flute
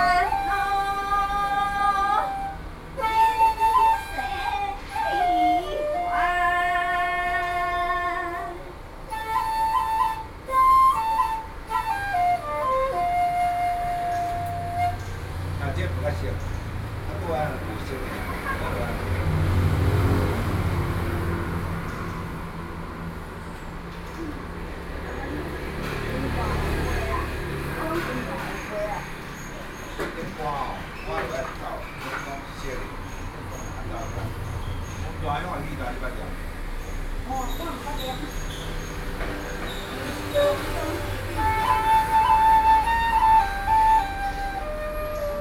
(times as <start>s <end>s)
0.0s 16.1s, 39.6s 45.4s